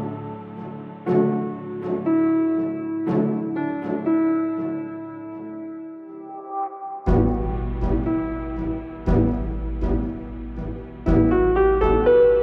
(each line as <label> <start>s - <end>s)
piano 0.0s - 12.4s
strings 0.0s - 12.4s